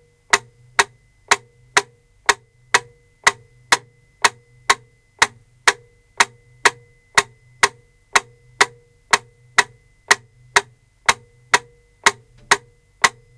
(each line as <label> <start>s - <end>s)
metronome 0.1s - 13.3s